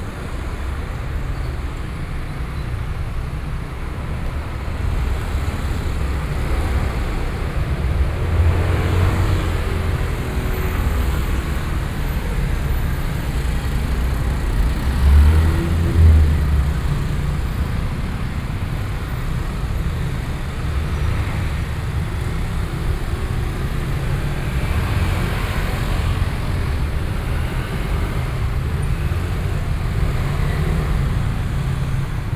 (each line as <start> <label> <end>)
0.0 traffic noise 32.3